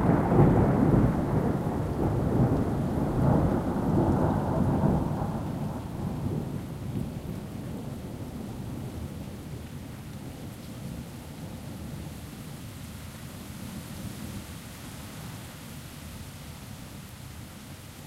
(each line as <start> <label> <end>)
0.0 thunder 9.2
0.0 rain 18.0
0.0 wind 18.0